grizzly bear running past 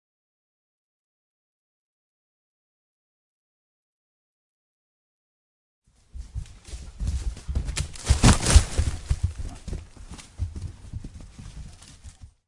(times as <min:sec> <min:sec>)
0:06.0 0:12.4